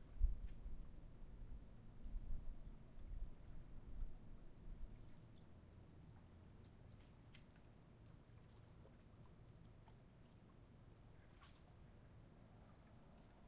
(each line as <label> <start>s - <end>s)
water 0.0s - 13.4s